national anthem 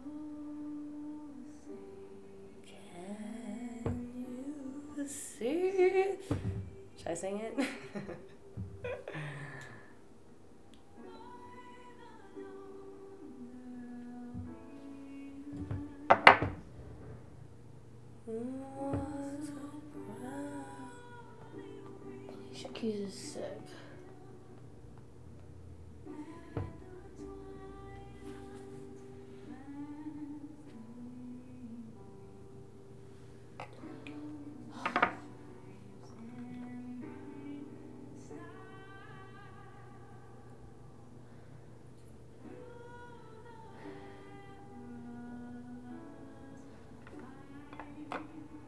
0:11.0 0:17.2

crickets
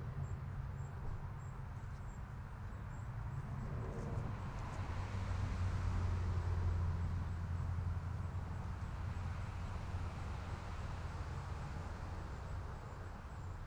0:00.2 0:05.6

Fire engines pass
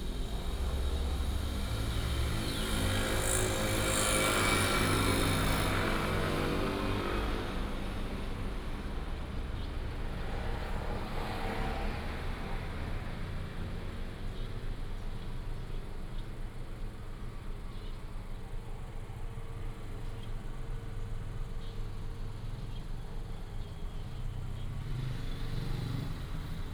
0:00.0 0:16.0

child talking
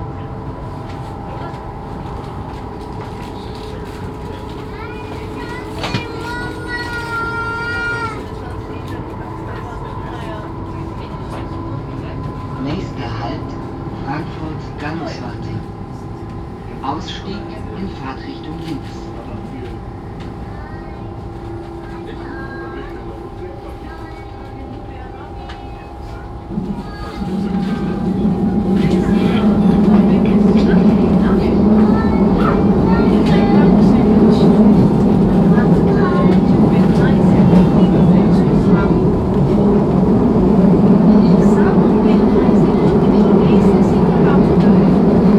0:04.6 0:08.9, 0:26.6 0:28.0, 0:30.2 0:34.6

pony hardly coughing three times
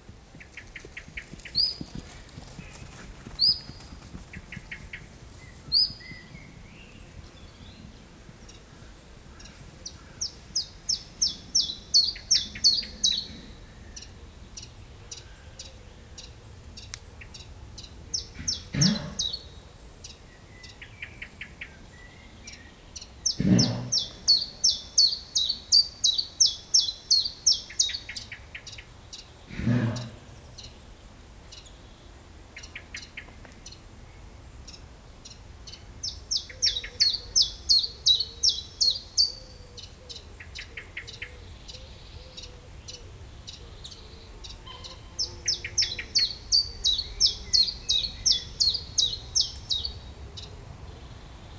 0:18.4 0:19.4, 0:23.4 0:24.3, 0:29.5 0:30.4

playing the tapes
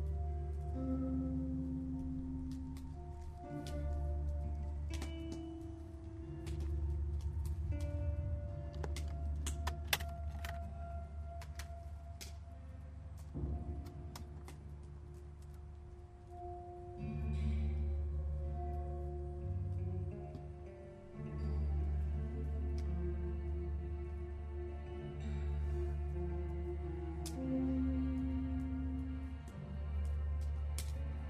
0:00.0 0:16.5

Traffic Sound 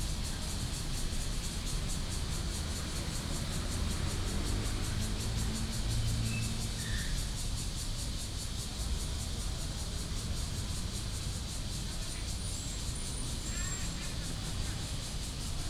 0:00.0 0:06.8

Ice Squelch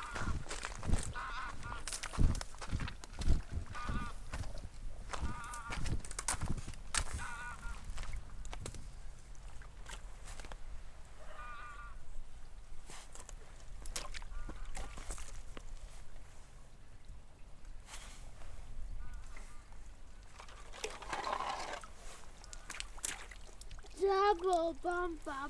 0:20.4 0:23.4

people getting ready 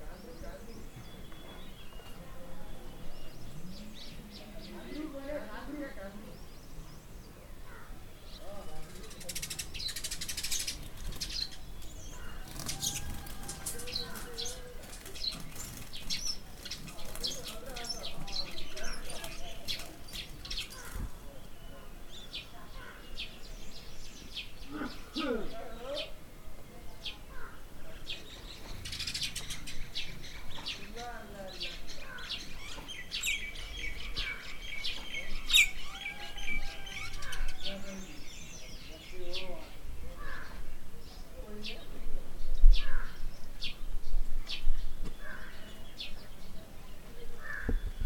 0:07.9 0:22.0

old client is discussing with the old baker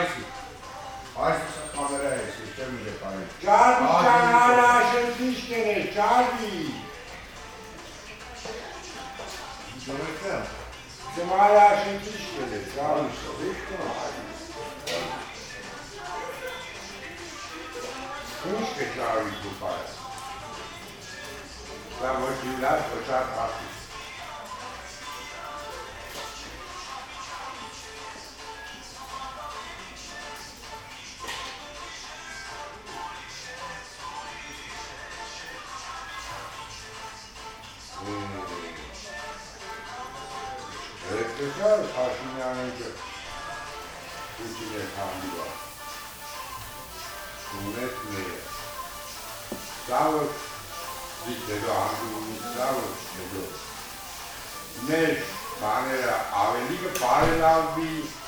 0:43.9 0:58.2

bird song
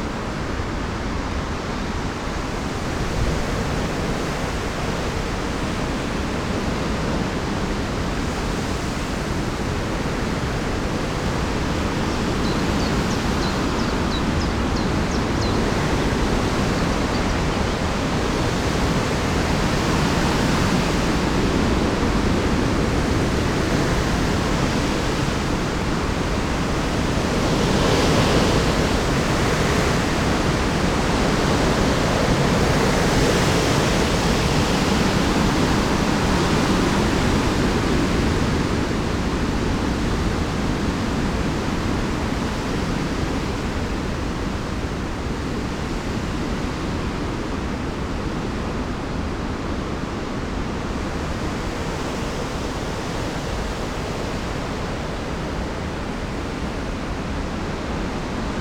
0:12.1 0:15.8, 0:16.6 0:17.6

